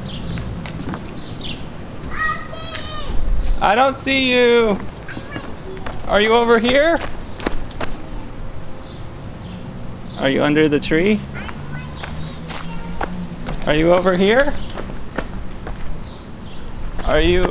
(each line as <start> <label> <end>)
0.0 birds 17.5
0.0 sprinkler in backyard 17.5
0.8 dad & 2-1/2 year old girl playing hide & seek 8.7
10.1 dad & 2-1/2 year old girl playing hide & seek 17.5